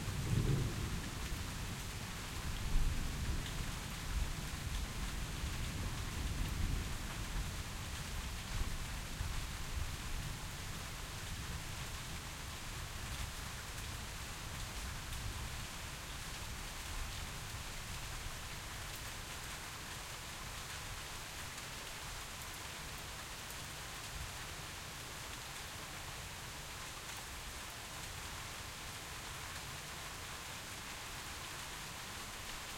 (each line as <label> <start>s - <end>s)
Rain 0.0s - 32.7s
Thunder 0.0s - 1.4s